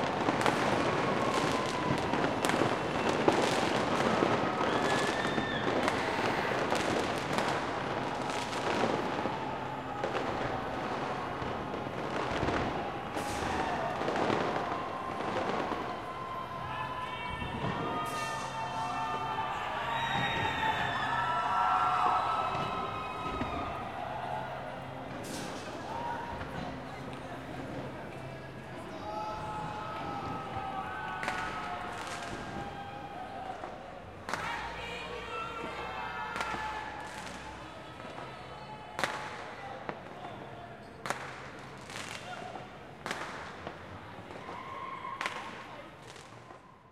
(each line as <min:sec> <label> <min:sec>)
0:00.0 fireworks 0:28.0
0:00.0 Crowd 0:46.9
0:29.3 fireworks 0:34.9
0:35.7 fireworks 0:46.8